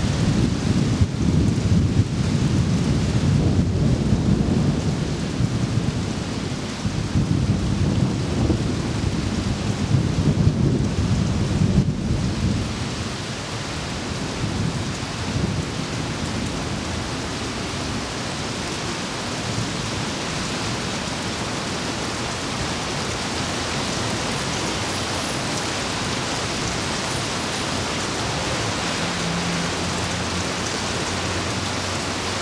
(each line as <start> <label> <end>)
0.1 Thunderstorm 13.1
14.4 Thunderstorm 20.0